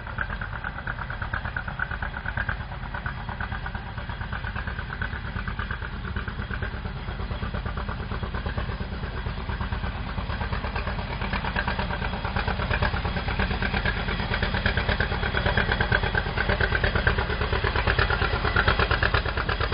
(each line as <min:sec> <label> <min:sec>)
0:00.0 Park railway passes 0:19.7